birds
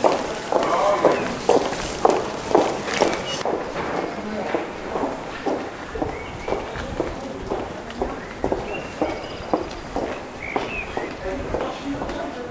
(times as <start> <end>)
2.8 4.4, 5.7 11.9